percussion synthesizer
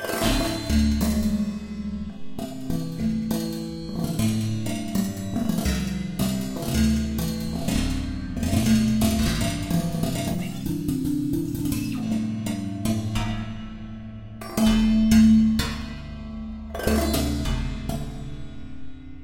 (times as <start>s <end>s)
6.6s 12.6s